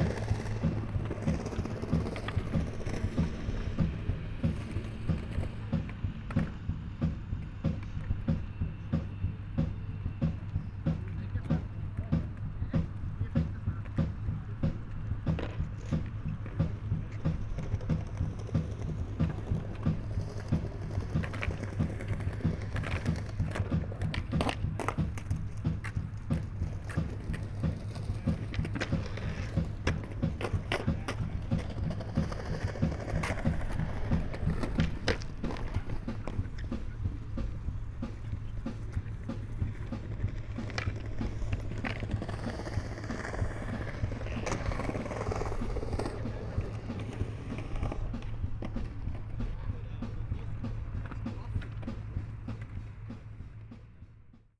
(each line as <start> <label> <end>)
0.0 Skaters 54.5
0.0 music from a beatbox 54.5